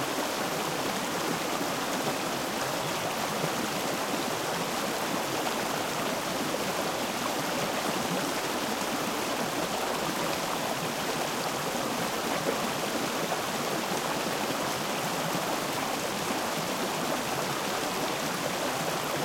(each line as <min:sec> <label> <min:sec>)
0:00.0 small waterfall 0:19.2